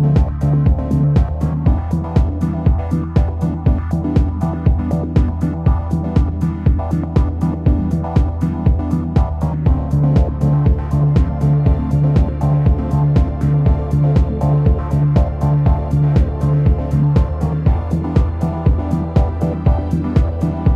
0.0s synth 20.7s

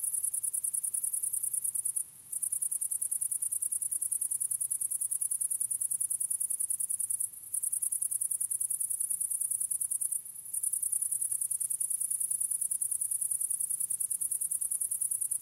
0.0s crickets 15.4s
0.0s foreground grasshopper 15.4s

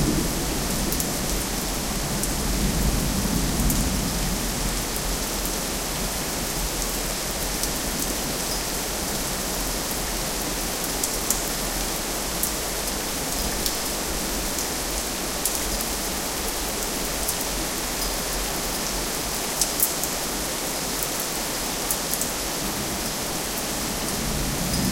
0.0s Thunder 5.3s
0.0s heavy rain 24.9s
23.8s Thunder 24.9s

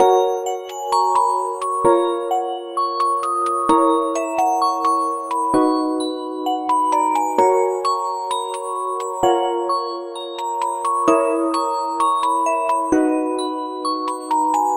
0.0s Lullaby melancholic loop, made with synth 14.7s
0.0s bell 14.7s
0.0s celeste 14.7s
0.0s vibraphone 14.7s

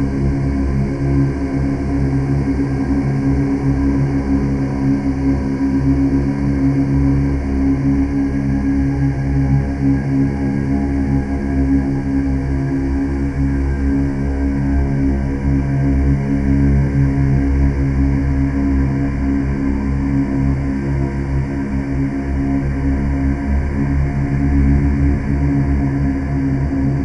0.0s drone 27.0s

